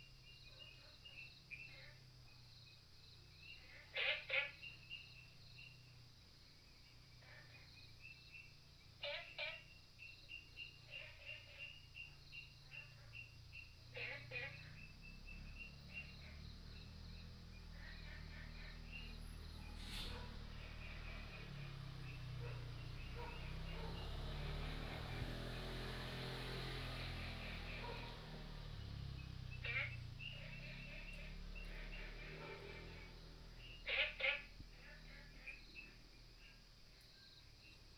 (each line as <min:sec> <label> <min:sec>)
0:00.0 Frogs sound 0:37.9